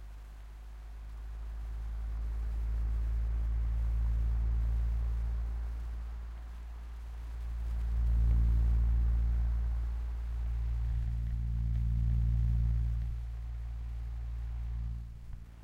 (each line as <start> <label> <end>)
0.0 Fan Buzz 15.6